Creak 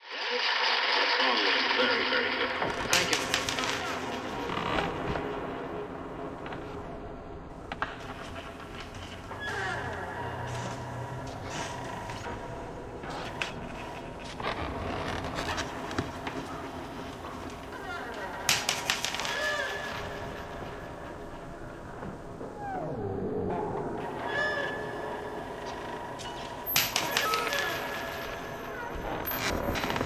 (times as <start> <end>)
2.9 5.2, 8.0 20.6, 22.6 30.0